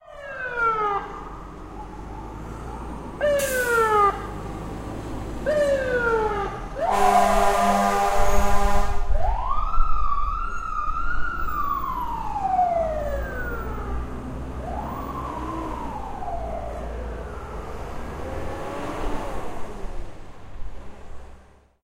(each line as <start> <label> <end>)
0.0 firetruck with sirens 21.3
0.0 traffic 21.8
6.8 horns 9.1